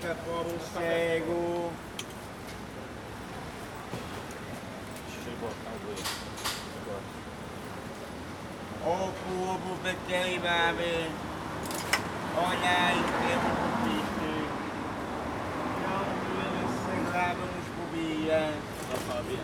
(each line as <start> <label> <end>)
0.0 buses leaving and arriving 19.4